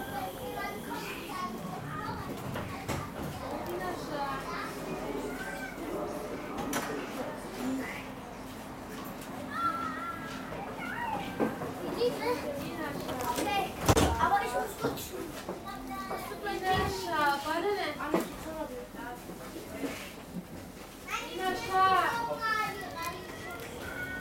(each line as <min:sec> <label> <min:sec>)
0:00.0 Subway ride 0:24.2
0:00.0 Tram ride 0:24.2